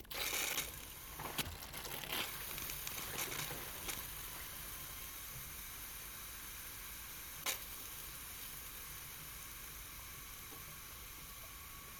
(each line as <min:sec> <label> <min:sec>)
0:00.0 Malfunctioning valve on a water pipeline 0:11.9